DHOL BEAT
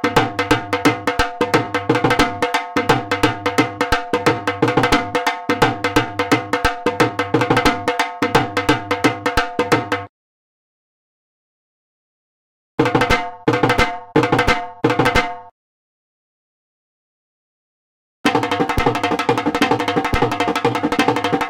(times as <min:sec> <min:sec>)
0:00.0 0:10.1, 0:12.8 0:15.5, 0:18.3 0:21.4